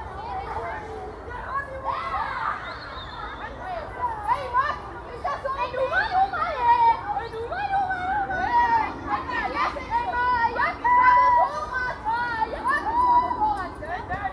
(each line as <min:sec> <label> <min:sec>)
0:07.5 Kids playing 0:14.3